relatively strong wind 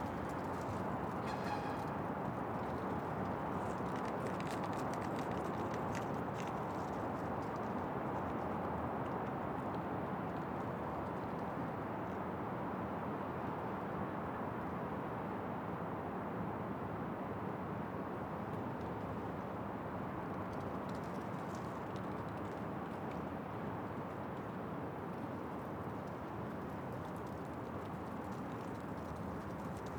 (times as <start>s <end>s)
0.0s 13.2s